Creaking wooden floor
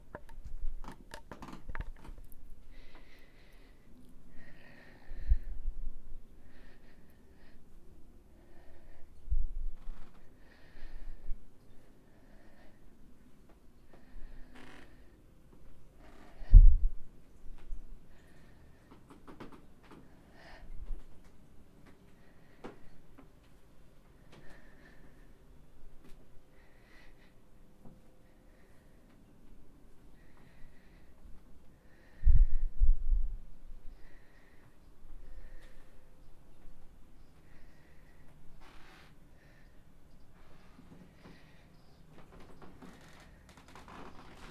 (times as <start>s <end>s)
0.1s 2.3s, 14.3s 15.1s, 42.2s 44.5s